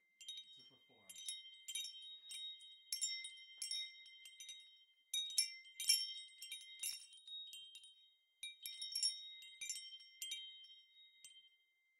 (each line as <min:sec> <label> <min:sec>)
0:00.0 wind chime 0:11.9